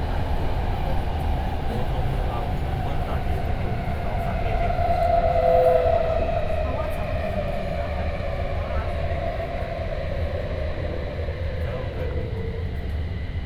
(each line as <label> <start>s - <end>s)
MRT train 0.0s - 13.4s